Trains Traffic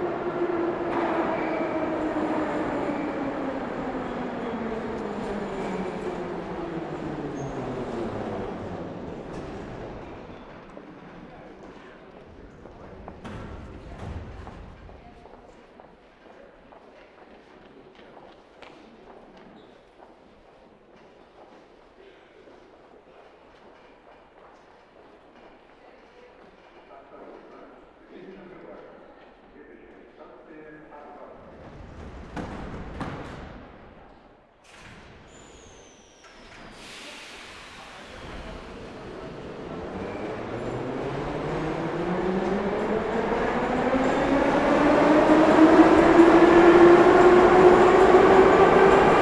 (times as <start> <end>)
0.0 13.3, 36.2 49.2